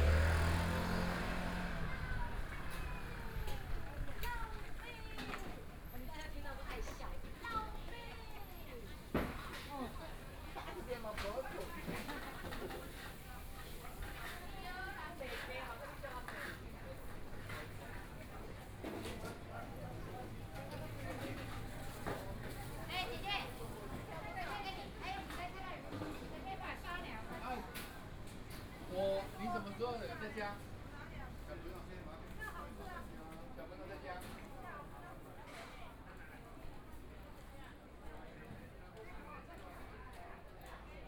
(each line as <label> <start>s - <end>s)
Motorcycle Sound 0.0s - 4.8s
Traffic Sound 0.0s - 5.9s
Pedestrians on the road 0.0s - 41.0s
Walking through the market 0.0s - 41.0s